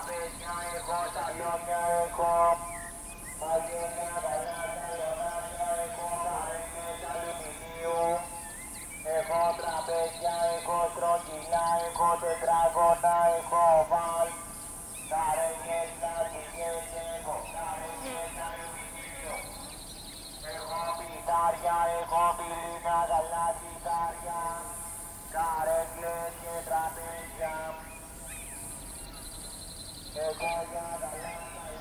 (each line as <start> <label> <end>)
0.0 distant amplified voice echoing from the hills 29.2
30.0 distant amplified voice echoing from the hills 31.8